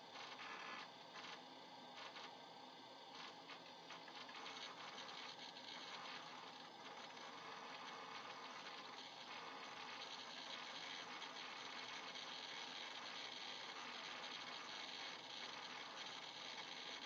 computer PC processing data 0:00.0 - 0:02.4
computer PC processing data 0:03.1 - 0:17.0

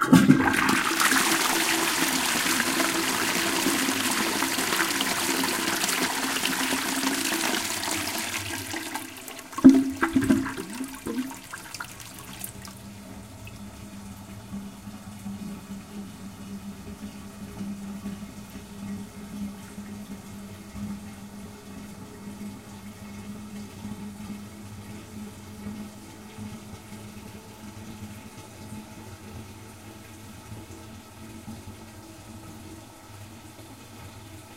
toilet 0:00.0 - 0:13.7

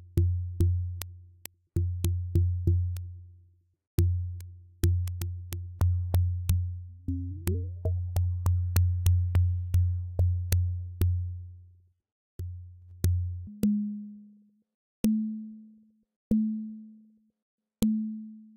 bongos 0:04.8 - 0:11.2

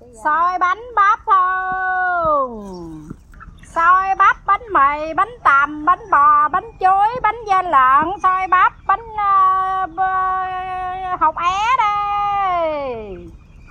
Woman sell food 0:00.0 - 0:13.4

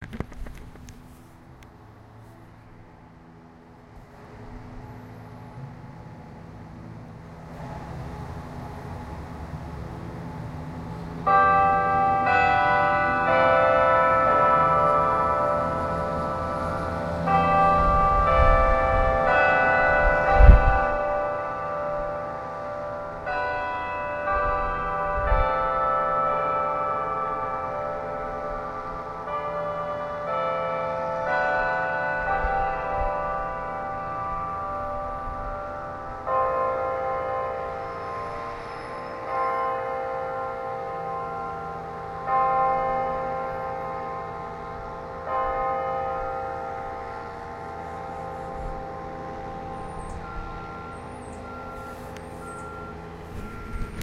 Bell tower chiming 0:03.0 - 0:54.0

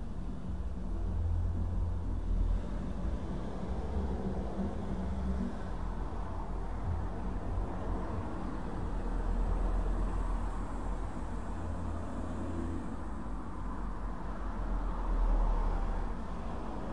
Cars Passing By 0:00.0 - 0:16.9

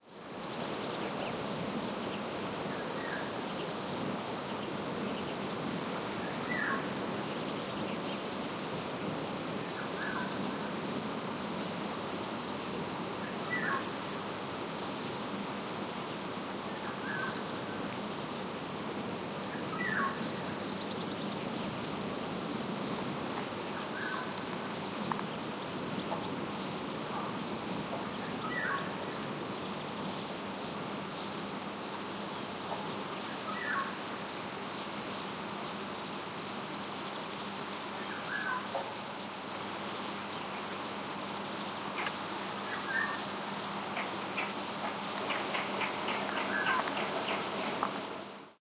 wind on trees 0:00.0 - 0:48.6
callings from Golden Oriole 0:42.0 - 0:48.0

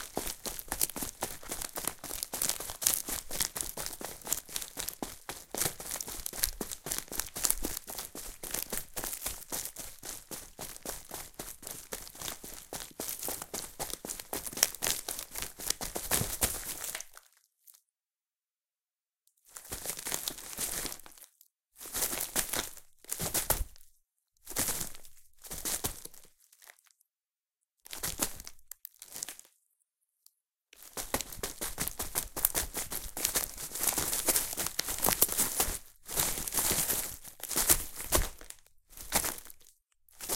walking on pieces of bark with shoes 0:00.0 - 0:17.3
walking on pieces of bark with shoes 0:30.8 - 0:40.3

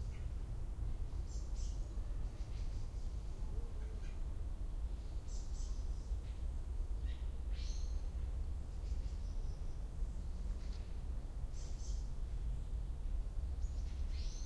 birds 0:00.0 - 0:14.4

